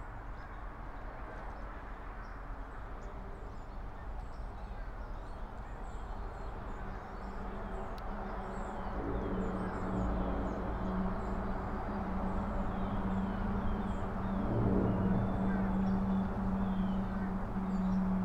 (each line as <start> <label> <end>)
6.2 road traffic noise 18.2